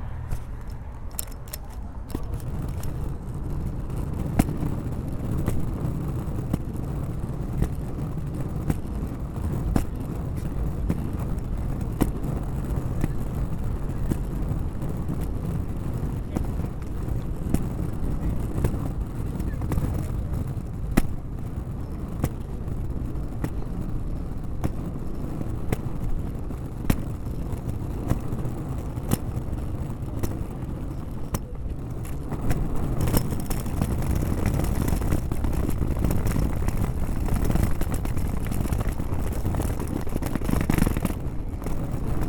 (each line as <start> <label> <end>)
24.5 Luggage Bag Drag 42.2